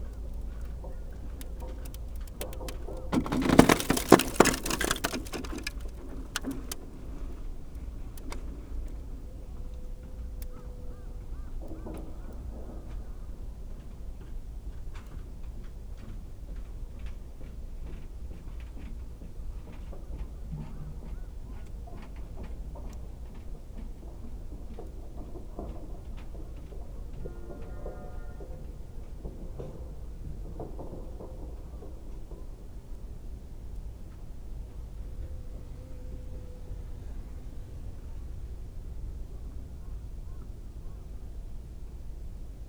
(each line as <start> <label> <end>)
0.0 frozen lake ice 9.2